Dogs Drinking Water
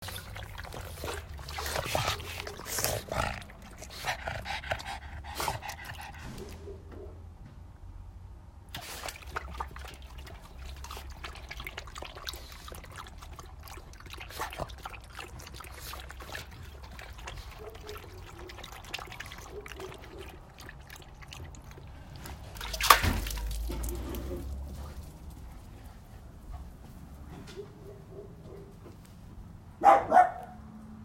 0:00.0 0:06.6, 0:08.7 0:26.1

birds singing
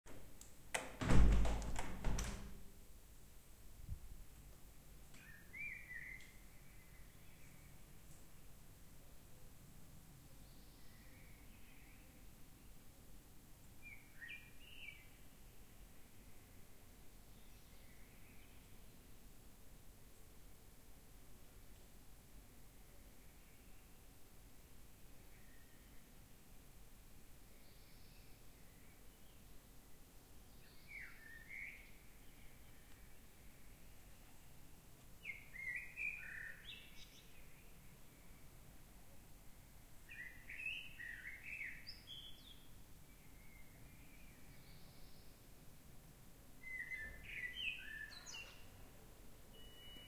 0:35.2 0:38.4, 0:46.6 0:48.8

